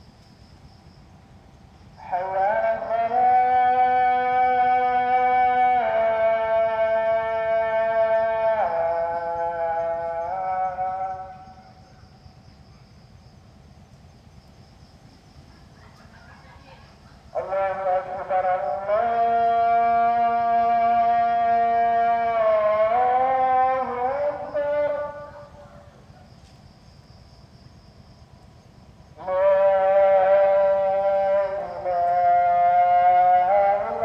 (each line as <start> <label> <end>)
2.0 muezzin 11.8
16.7 muezzin 26.3
29.2 muezzin 34.0